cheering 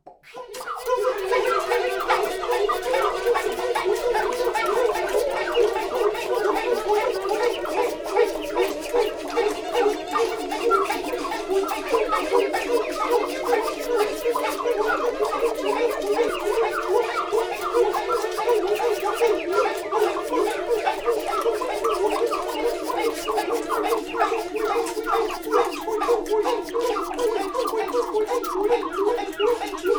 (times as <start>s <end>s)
0.6s 23.6s